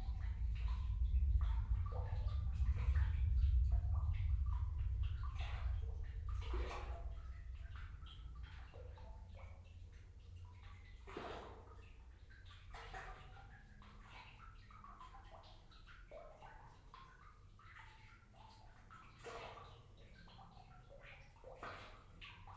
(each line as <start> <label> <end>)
0.0 water 22.5